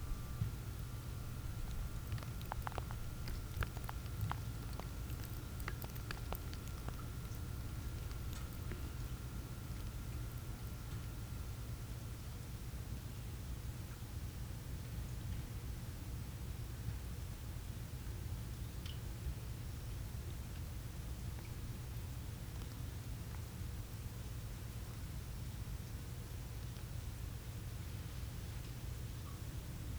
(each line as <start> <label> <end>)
0.0 faint wind through pines 11.1